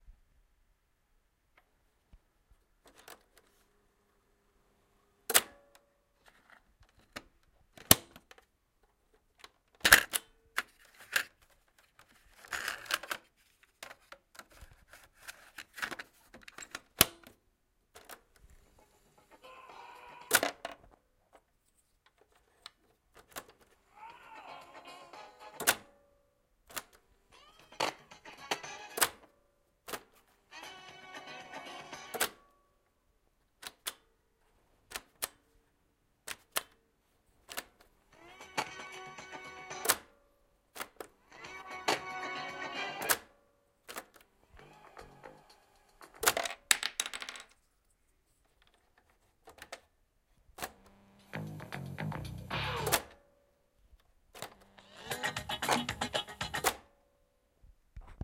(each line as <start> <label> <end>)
24.0 Short fragments of music from old cassettes 25.9
27.4 Short fragments of music from old cassettes 29.3
30.5 Short fragments of music from old cassettes 32.5
38.2 broken tape recorder 40.1
38.2 Short fragments of music from old cassettes 40.2
40.8 broken tape recorder 43.3
40.8 Short fragments of music from old cassettes 43.4
44.0 Short fragments of music from old cassettes 46.5
50.6 Short fragments of music from old cassettes 53.2
50.6 broken tape recorder 53.2
51.1 glitches 53.0
54.4 broken tape recorder 56.8
54.4 buttons 56.8
54.4 Short fragments of music from old cassettes 56.9